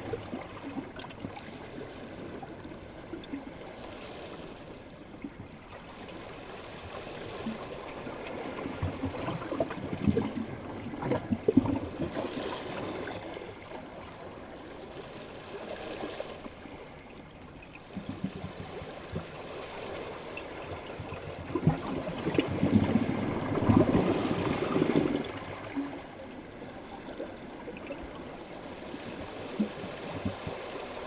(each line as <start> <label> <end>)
0.0 Ocean waves going through rocks 31.0
0.0 cicadas 31.0